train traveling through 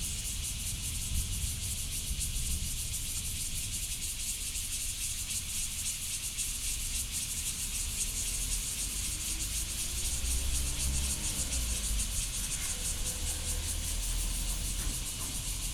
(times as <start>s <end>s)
8.2s 15.7s